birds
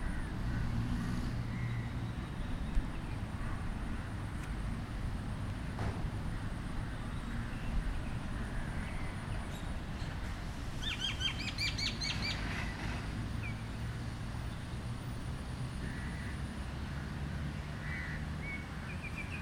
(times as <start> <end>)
6.9 13.8